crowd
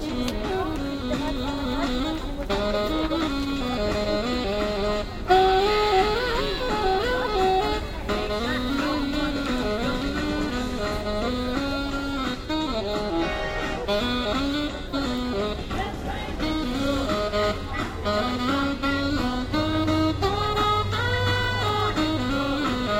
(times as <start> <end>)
13.0 14.0, 15.5 18.2